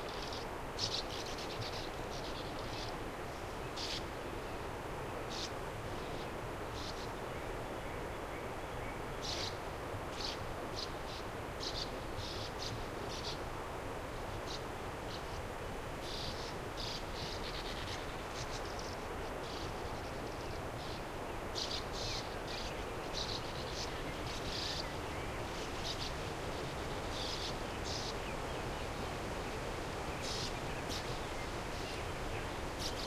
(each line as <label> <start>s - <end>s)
Sand Martins 16.0s - 33.0s